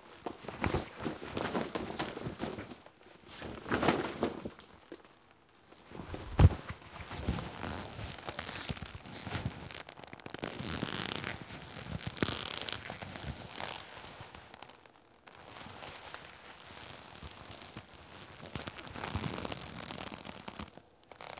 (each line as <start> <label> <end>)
5.9 Scrunching the collar of my sweet leatha bomber jacket 21.3